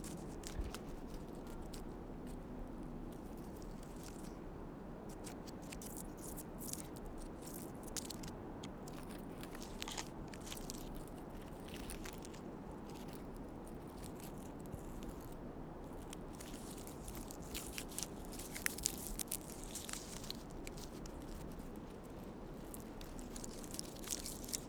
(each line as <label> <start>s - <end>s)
Very windy day 0.0s - 24.6s
Scraping bark off a tree 5.1s - 24.6s